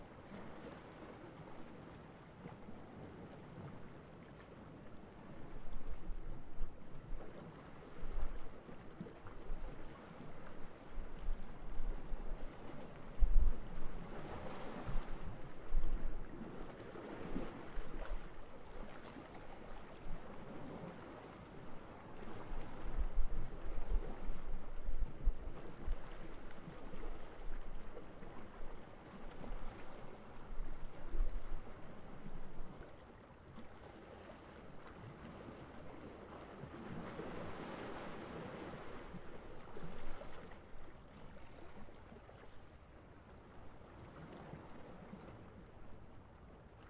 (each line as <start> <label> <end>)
0.0 sea waves 46.8